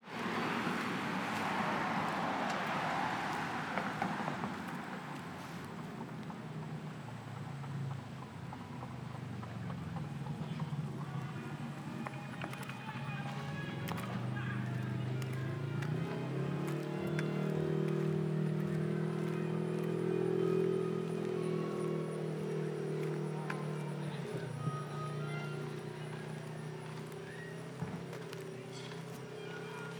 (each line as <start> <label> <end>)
0.0 big school buses, and charter buses, stop 29.9
0.0 sirens of the police cars and fire engines 29.9